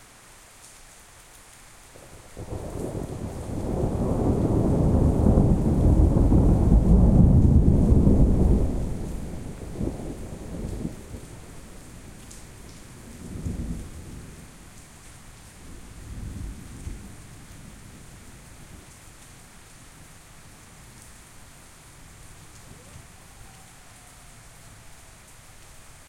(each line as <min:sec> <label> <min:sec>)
0:00.0 rain 0:26.0
0:02.4 loud and impressive thunder cracks 0:11.4